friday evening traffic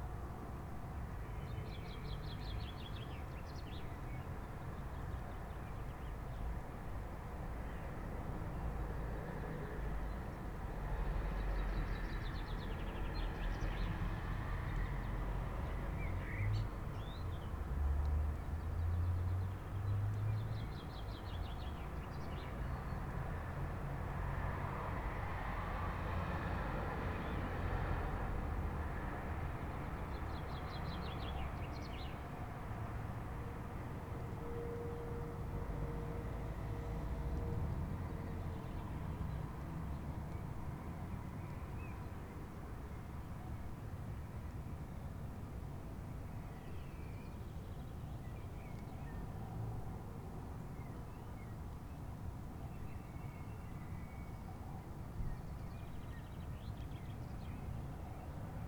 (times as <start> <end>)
25.0 40.2